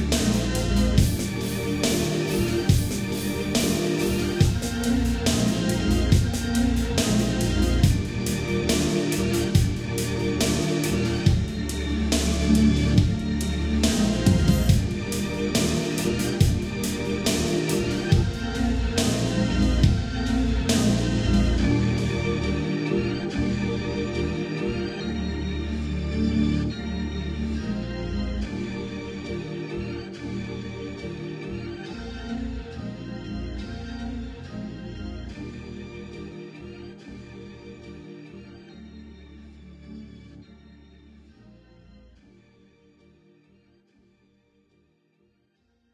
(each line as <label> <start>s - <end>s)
drum loop 0.0s - 22.1s